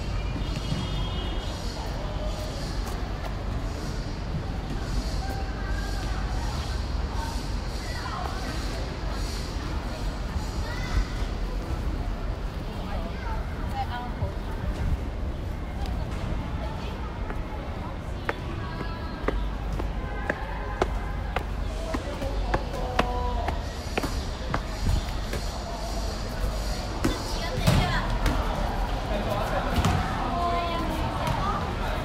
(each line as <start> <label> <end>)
0.0 We walked up the stairs 32.0
0.0 people were talking around 32.0
0.0 students talking 32.0
29.7 balls hit the ground 30.2